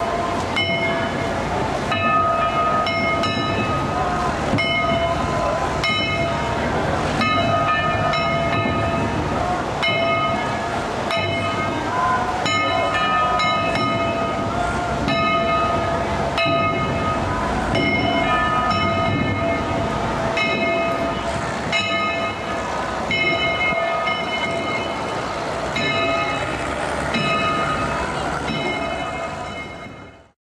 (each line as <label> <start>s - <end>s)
Distant bells 0.0s - 30.4s
traffic 0.0s - 30.4s